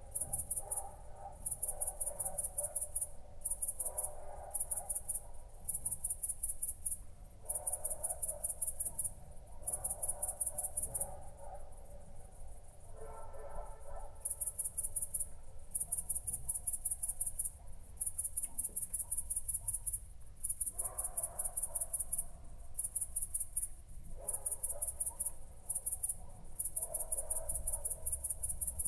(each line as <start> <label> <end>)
0.0 Crickets 28.8
0.2 dogs barking 3.0
3.8 dogs barking 5.5
7.5 dogs barking 12.1
12.9 dogs barking 14.4
20.8 dogs barking 22.0
24.2 dogs barking 25.3
26.1 dogs barking 28.2